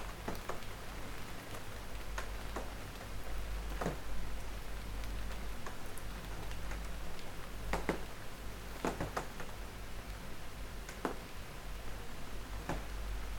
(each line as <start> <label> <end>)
0.0 Hard rain drops on window pane 13.3